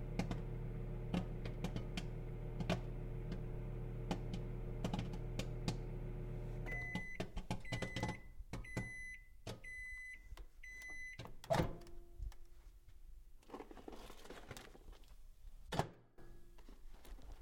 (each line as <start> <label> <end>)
0.0 Popcorn popping in a microwave 5.9